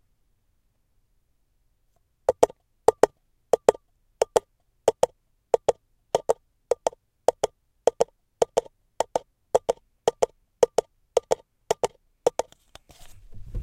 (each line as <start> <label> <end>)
2.3 horse galloping made with two paper cups 12.6